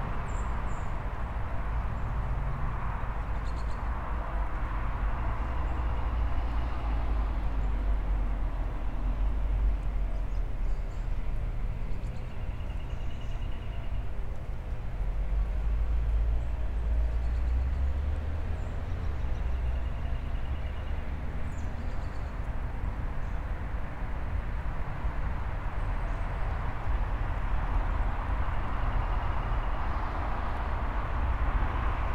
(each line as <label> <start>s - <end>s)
heavy traffic sounds 0.0s - 32.1s